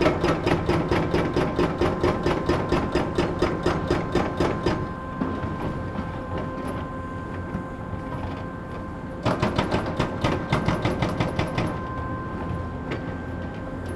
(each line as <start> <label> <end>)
0.0 noise of different excavators 13.9
1.8 distant drone of a fog cannon 13.9